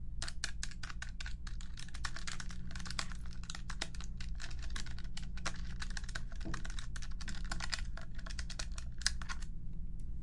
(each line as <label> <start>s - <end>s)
calculator fingertips 0.2s - 9.5s